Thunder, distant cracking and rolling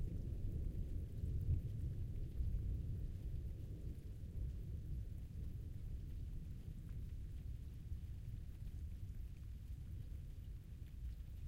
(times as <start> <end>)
0.0 9.2